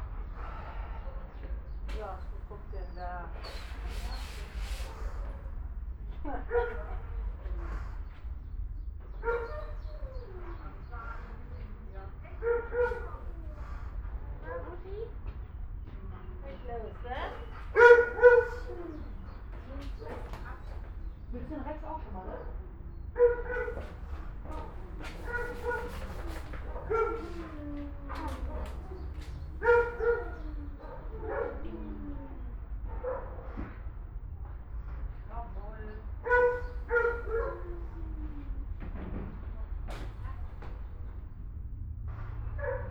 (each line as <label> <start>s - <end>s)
dogs barking 6.4s - 8.0s
dogs barking 9.1s - 10.8s
dogs barking 12.4s - 13.8s
dogs barking 17.2s - 21.3s
dogs barking 23.2s - 31.7s
dogs barking 36.2s - 38.3s
dogs barking 42.6s - 42.9s